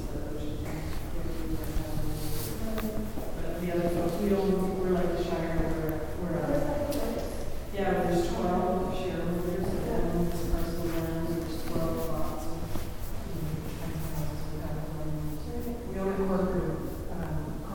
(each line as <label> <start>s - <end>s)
people talking 0.0s - 17.7s
footsteps 0.6s - 7.6s
footsteps 9.0s - 17.6s